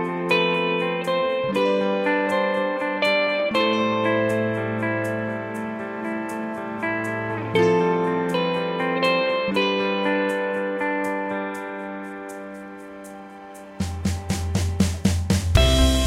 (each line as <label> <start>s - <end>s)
acoustic guitar 0.0s - 16.0s
piano 0.0s - 16.0s
string 0.0s - 16.0s
drum 13.8s - 16.0s
bass 14.8s - 16.0s